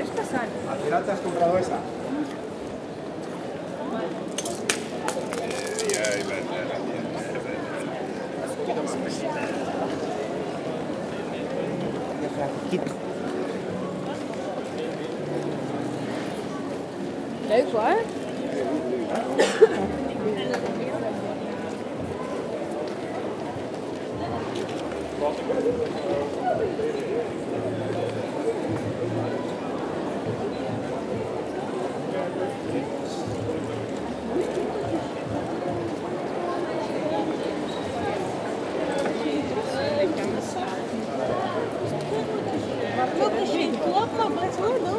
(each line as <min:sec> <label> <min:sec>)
0:00.0 people walking quietly 0:07.4